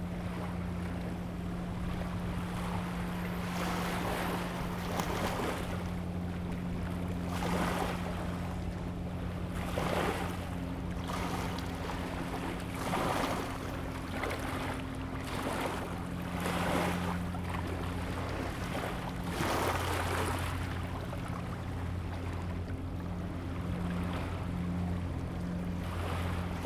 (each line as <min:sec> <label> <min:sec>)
0:00.0 waves 0:26.6